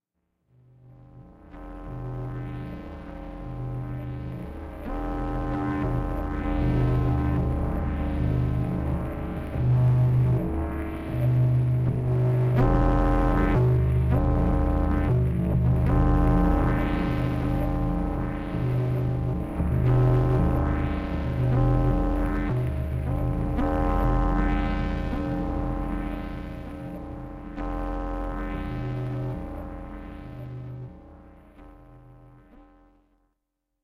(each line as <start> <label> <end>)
1.1 scifi drones 32.3